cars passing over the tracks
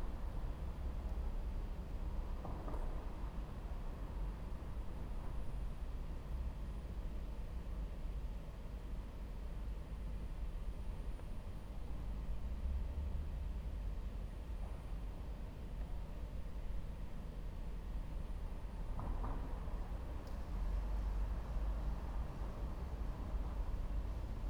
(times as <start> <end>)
18.8 24.4